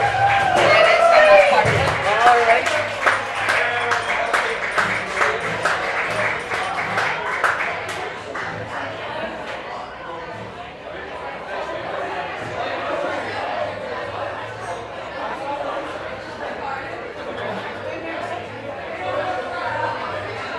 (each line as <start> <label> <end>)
0.0 yells 1.9
0.0 outdoor crowd 20.5